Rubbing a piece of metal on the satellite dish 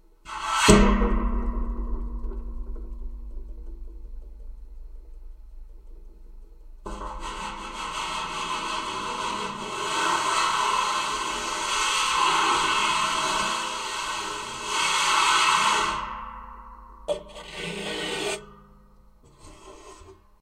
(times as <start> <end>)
6.9 14.0